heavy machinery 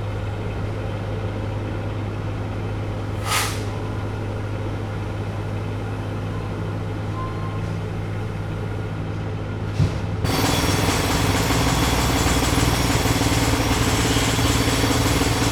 9.7s 15.5s

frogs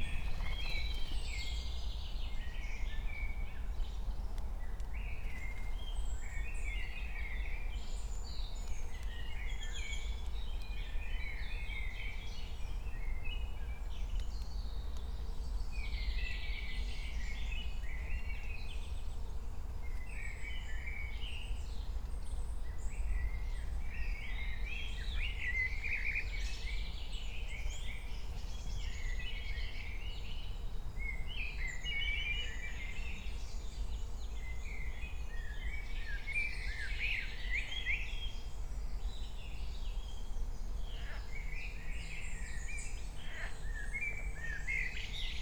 41.0s 41.5s, 43.2s 43.6s

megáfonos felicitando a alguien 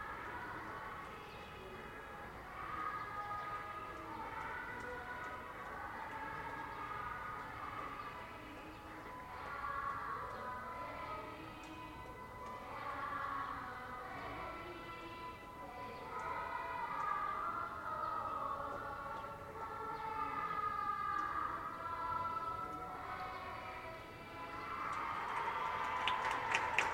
24.7s 26.9s

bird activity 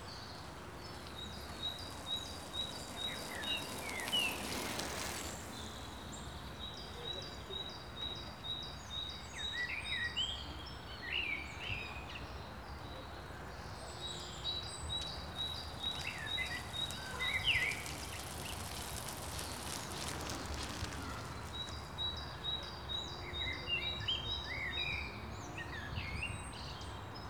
0.0s 9.6s, 13.6s 24.2s

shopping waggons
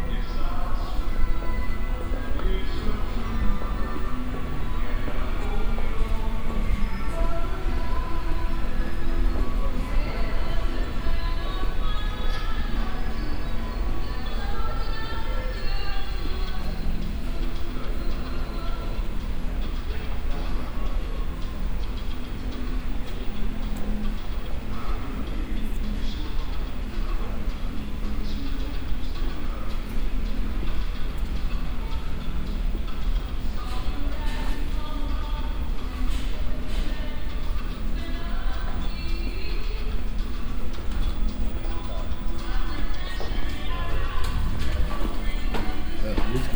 26.4s 46.5s

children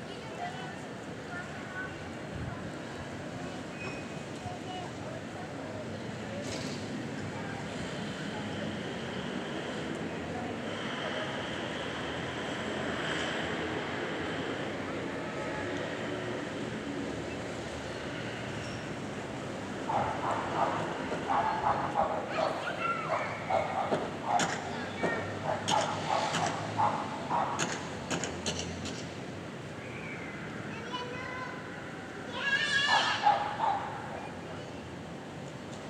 21.3s 26.5s, 30.6s 33.6s

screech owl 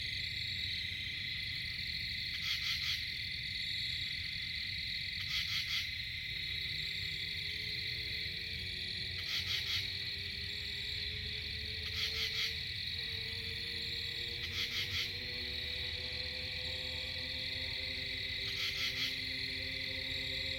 11.8s 12.6s, 14.0s 20.5s

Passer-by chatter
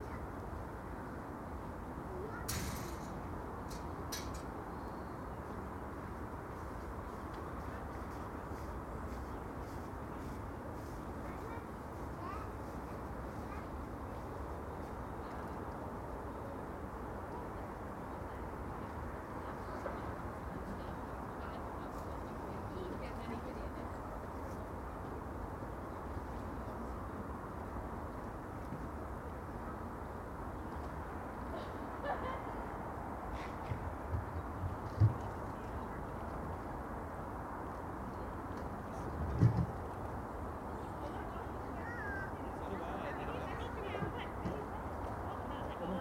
37.8s 46.0s

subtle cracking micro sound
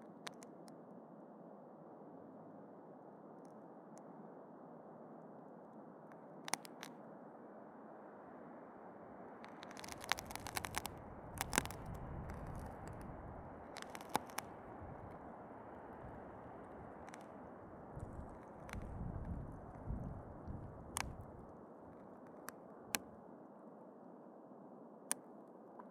0.0s 0.8s, 6.1s 7.0s, 9.4s 23.2s

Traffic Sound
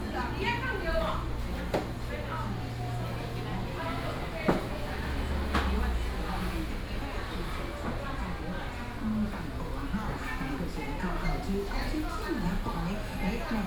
1.4s 8.8s

